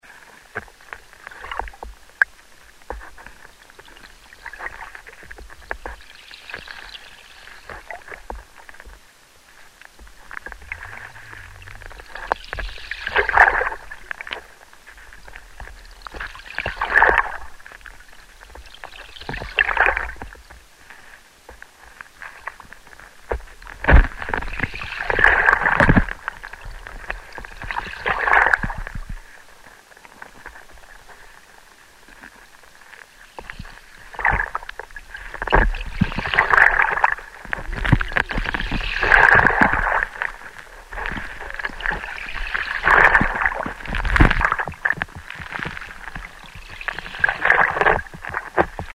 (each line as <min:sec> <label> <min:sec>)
0:00.0 stones of the beach 0:48.9